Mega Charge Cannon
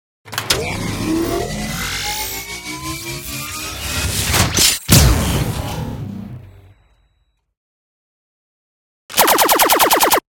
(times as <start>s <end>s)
9.1s 10.2s